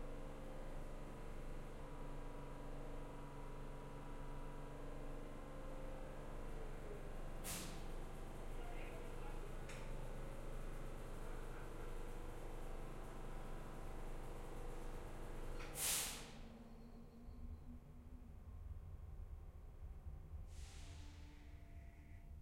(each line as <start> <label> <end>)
0.0 Subway Train Arriving to Station 22.4